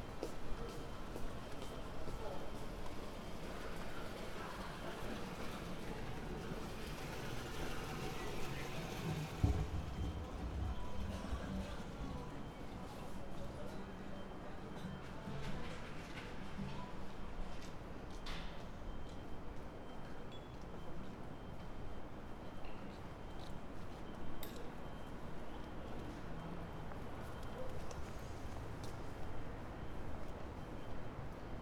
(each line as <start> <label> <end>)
0.0 fans of air conditioning 31.6